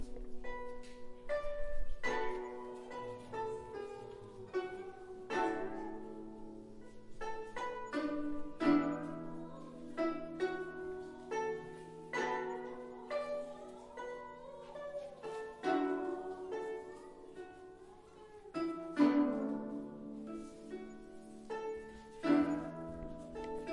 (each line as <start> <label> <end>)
0.0 guzheng 23.7
1.3 voice 6.6
7.2 voice 20.0